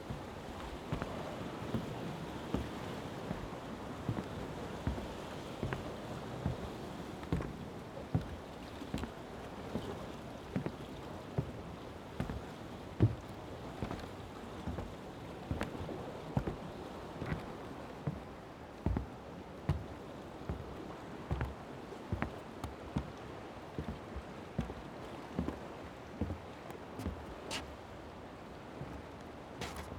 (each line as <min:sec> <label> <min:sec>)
0:29.6 footsteps 0:29.9